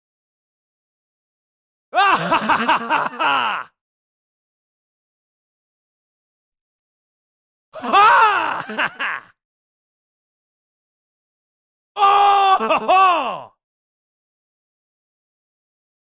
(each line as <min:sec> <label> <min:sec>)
0:02.0 male voice laughing 0:03.7
0:07.8 shouting 0:08.8
0:07.8 male voice laughing 0:09.3
0:12.0 shouting 0:13.5